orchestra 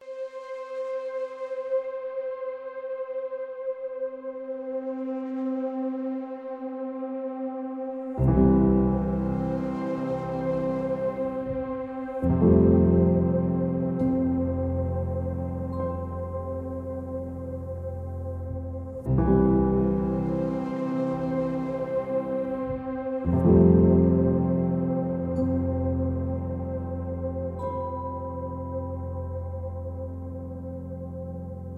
18.9s 29.0s

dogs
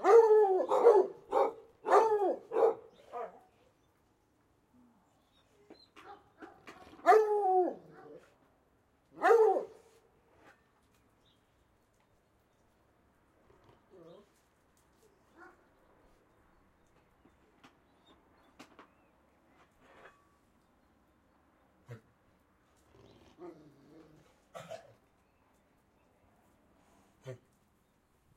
0.0s 3.8s, 5.4s 8.5s, 9.2s 10.6s, 13.5s 16.2s, 22.8s 25.2s

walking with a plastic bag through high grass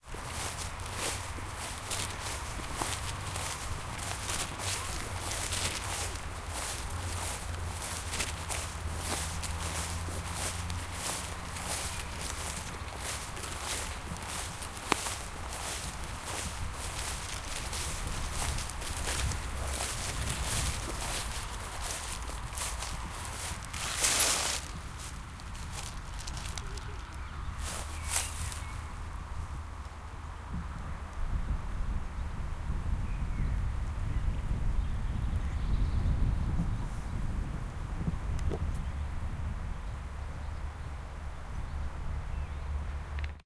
0.0s 29.8s

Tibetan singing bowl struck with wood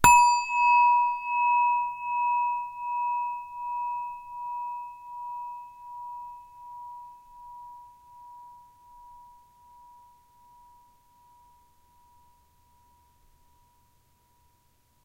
0.0s 10.8s

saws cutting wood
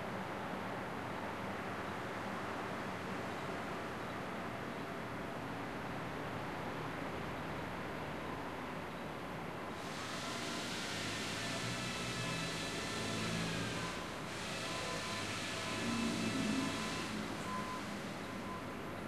9.8s 18.4s

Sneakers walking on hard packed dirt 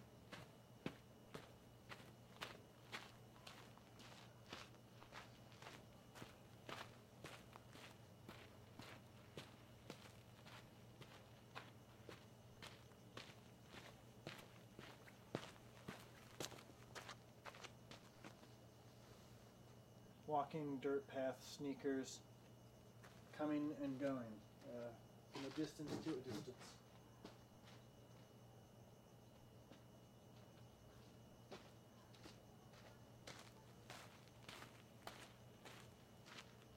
0.0s 18.7s, 22.5s 24.8s, 29.6s 36.7s

